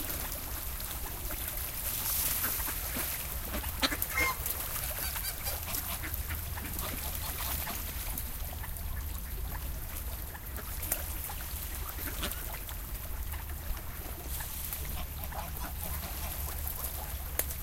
ducks swimming in a lake 0:00.0 - 0:17.6

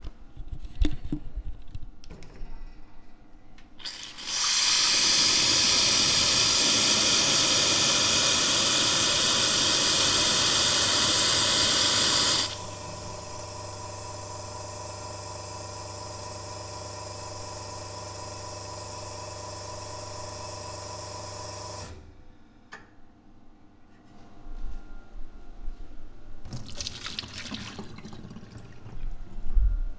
boiler hum 0:03.8 - 0:21.8
cup rinse 0:03.8 - 0:13.5
boiler hum 0:25.7 - 0:29.9
cup empty down drain 0:26.4 - 0:29.5
cup rinse 0:26.4 - 0:29.6

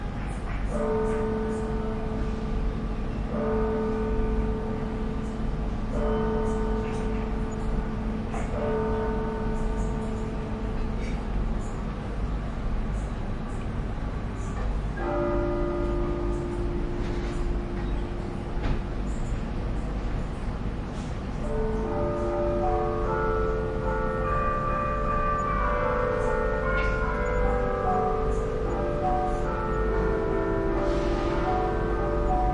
church bell 0:00.0 - 0:32.5

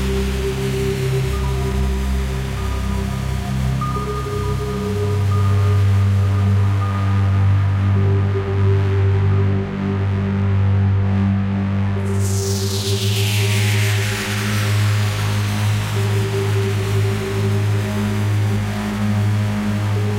drone 0:00.0 - 0:20.1

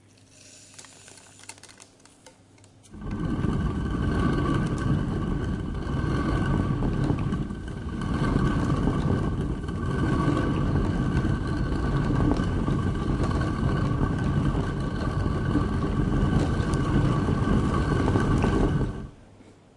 rotary quern grinding bere-meal 0:02.8 - 0:19.2

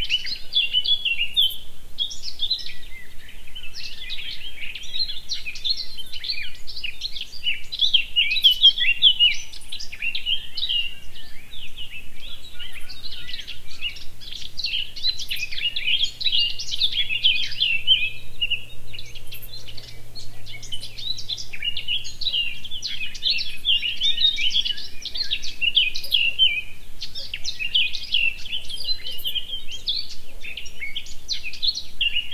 birdsong 0:00.0 - 0:32.3

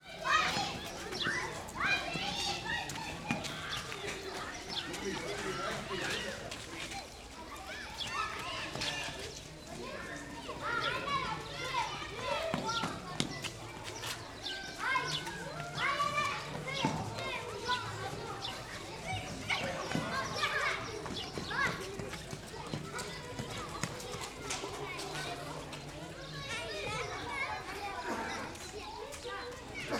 Children playing and screaming 0:00.0 - 0:29.9
Sparrows 0:00.2 - 0:29.9

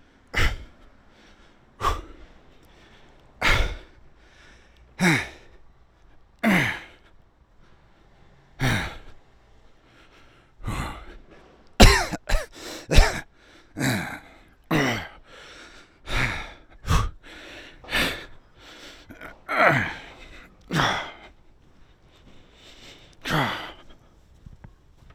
breathing 0:00.0 - 0:11.6
coughing 0:00.4 - 0:00.8
coughing 0:03.4 - 0:03.9
coughing 0:05.0 - 0:05.5
coughing 0:06.4 - 0:07.0
coughing 0:11.8 - 0:15.2
breathing 0:12.4 - 0:25.1
coughing 0:19.0 - 0:21.4
coughing 0:23.2 - 0:24.0

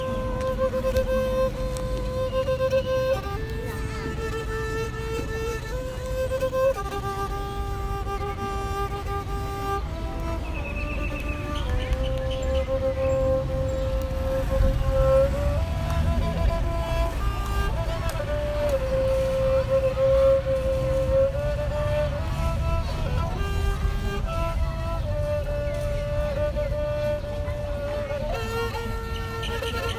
string instrument 0:00.0 - 0:29.9

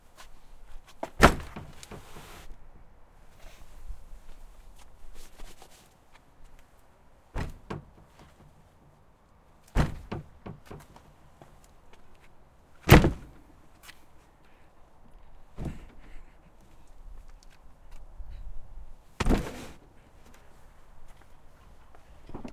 Body Hitting Wooden Door 0:07.4 - 0:08.0
Body Hitting Wooden Door 0:09.8 - 0:10.9
Body Hitting Wooden Door 0:12.9 - 0:13.4
Body Hitting Wooden Door 0:19.2 - 0:19.6

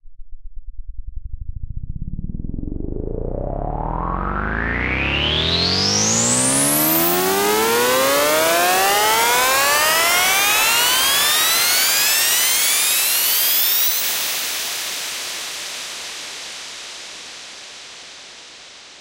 Riser 0:01.9 - 0:15.0

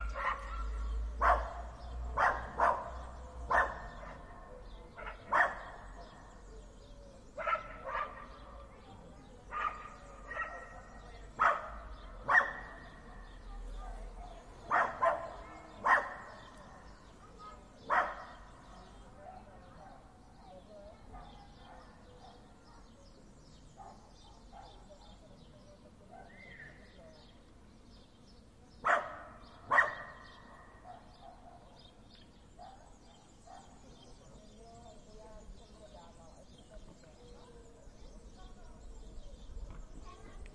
small dogs barking at each other 0:00.0 - 0:06.4
indistinct chatter of people 0:00.0 - 0:40.5
small dogs barking at each other 0:07.3 - 0:20.1
small dogs barking at each other 0:28.8 - 0:34.1

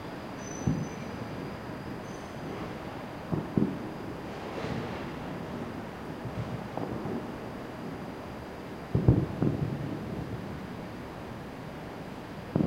fireworks 0:00.0 - 0:12.6

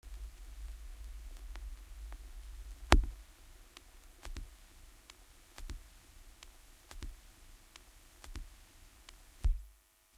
crackle 0:00.0 - 0:10.1
Vinyl Runout Groove 0:00.0 - 0:09.9
hiss 0:00.1 - 0:09.7

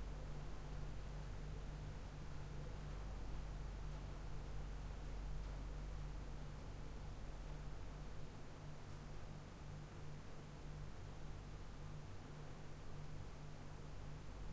low throbbing electric hum 0:00.0 - 0:08.2

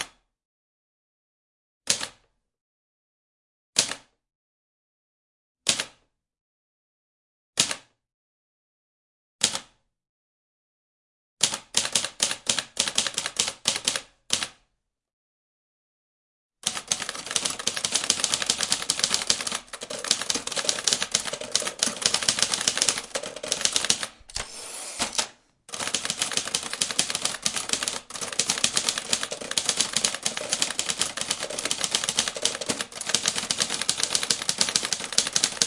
operating an older typewriter 0:16.7 - 0:35.6

